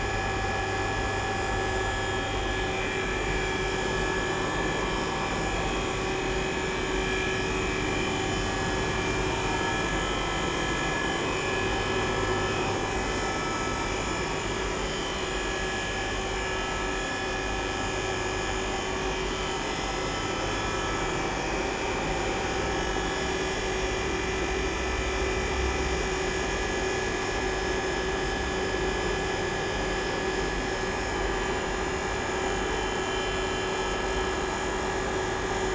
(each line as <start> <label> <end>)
0.0 aircon 35.7